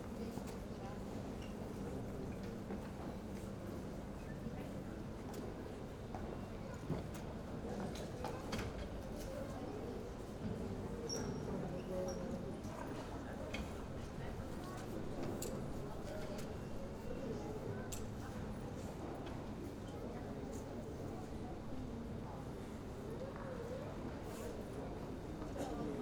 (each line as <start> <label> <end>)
7.5 murmur of voices 26.0